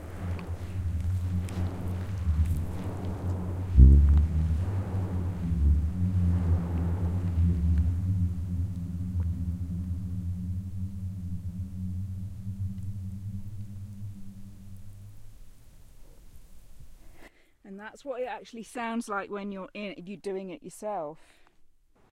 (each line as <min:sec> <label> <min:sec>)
0:00.0 Booming sound created via an avalanche 0:10.8